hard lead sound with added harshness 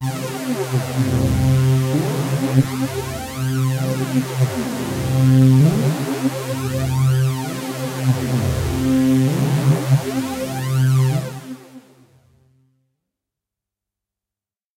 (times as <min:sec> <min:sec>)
0:00.0 0:11.4